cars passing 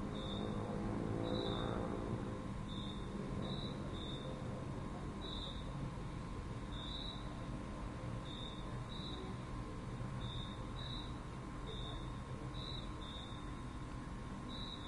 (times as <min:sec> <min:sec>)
0:00.0 0:03.5